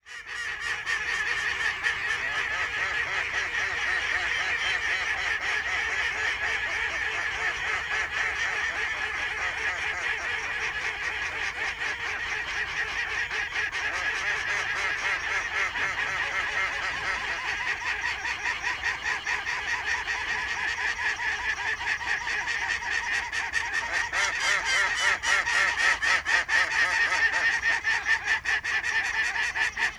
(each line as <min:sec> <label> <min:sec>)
0:00.0 Ducks 0:29.9